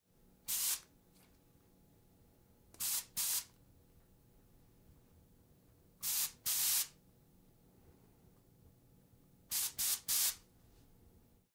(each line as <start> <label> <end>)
0.5 spraying from an aluminum spray bottle 0.8
2.8 spraying from an aluminum spray bottle 3.5
6.0 spraying from an aluminum spray bottle 6.9
9.5 spraying from an aluminum spray bottle 10.4